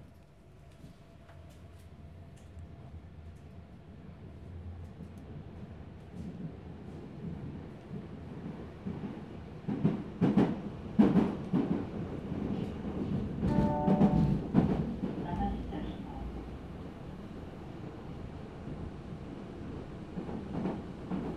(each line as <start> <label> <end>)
13.0 ubahn and bahnhof noises 16.9